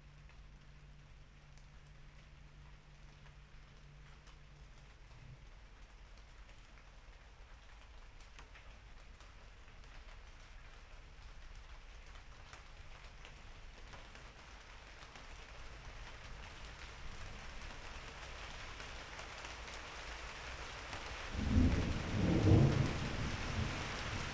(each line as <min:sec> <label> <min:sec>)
0:00.0 it begins to rain 0:24.3